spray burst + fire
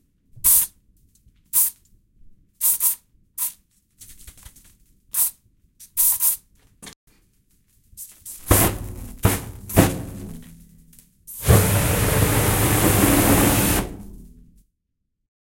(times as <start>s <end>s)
8.4s 10.5s, 11.3s 14.4s